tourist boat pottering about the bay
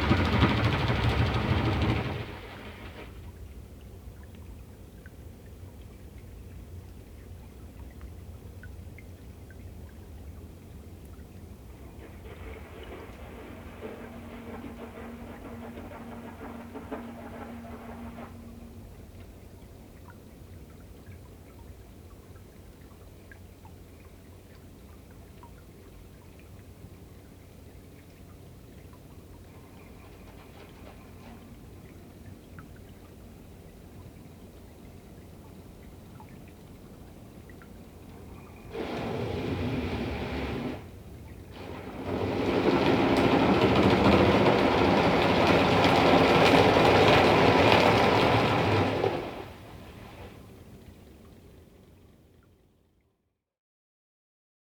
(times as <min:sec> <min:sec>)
0:00.0 0:03.4, 0:09.6 0:21.4, 0:27.7 0:51.5